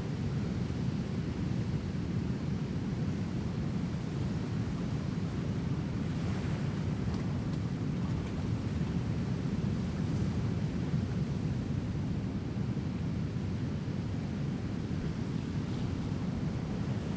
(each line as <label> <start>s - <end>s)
roar of Pacific ocean on the beach 0.0s - 17.1s